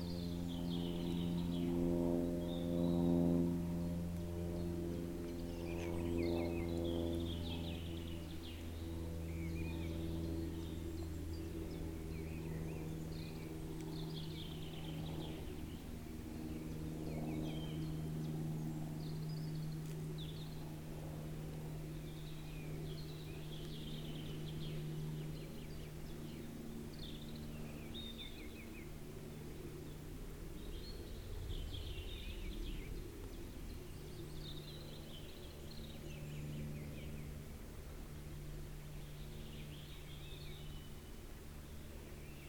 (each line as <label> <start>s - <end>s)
Walking uphill the forest path 0.0s - 42.4s
plane crossing valley 0.0s - 42.4s